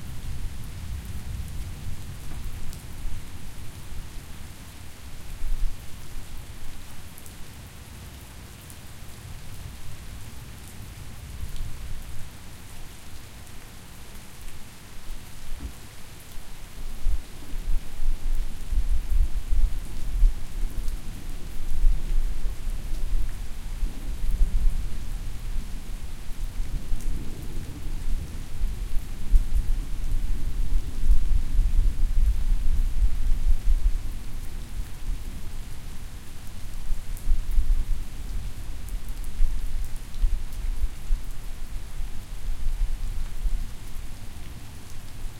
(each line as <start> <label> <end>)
0.0 rain 45.3